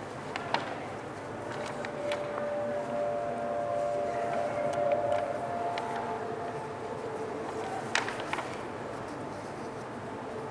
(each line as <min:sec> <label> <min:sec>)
0:01.5 sound installation 0:08.6